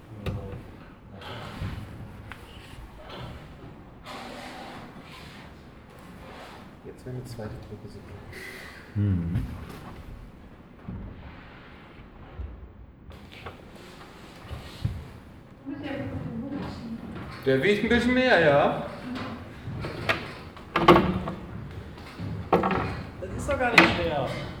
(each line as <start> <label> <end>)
0.0 conversations of the stuff 10.7
13.2 conversations of the stuff 24.6
16.1 metal pipes being moved 24.6